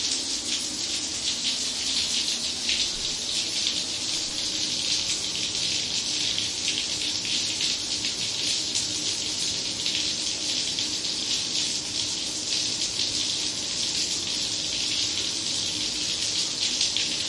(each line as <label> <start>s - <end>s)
Shower 0.0s - 17.2s